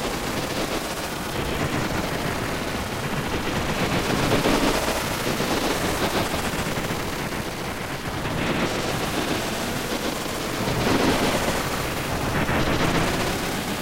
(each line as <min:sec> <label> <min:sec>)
0:00.0 ambient droning noisescape 0:13.8